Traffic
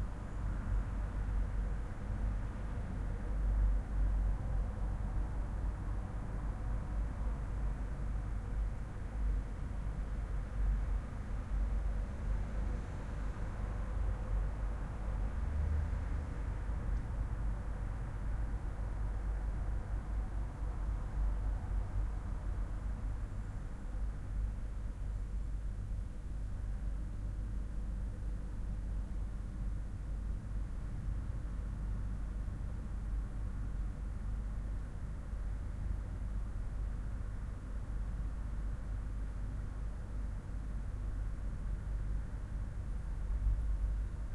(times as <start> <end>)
10.2 22.6